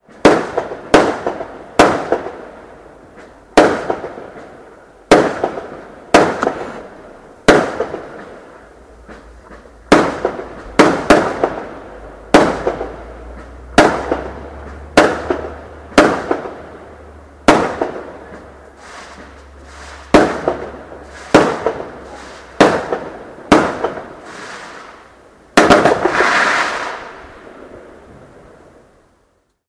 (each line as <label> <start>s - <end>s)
standard fireworks 0.0s - 29.1s